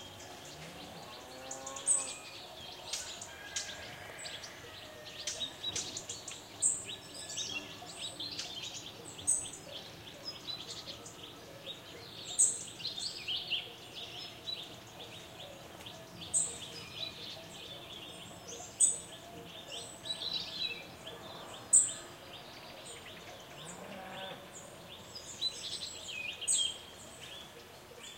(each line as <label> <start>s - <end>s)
bird tweets 0.0s - 28.1s